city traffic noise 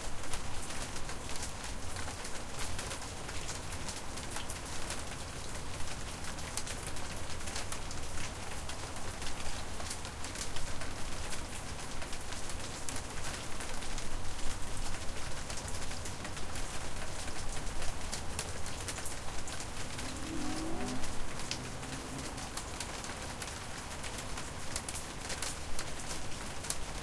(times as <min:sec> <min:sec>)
0:17.4 0:25.2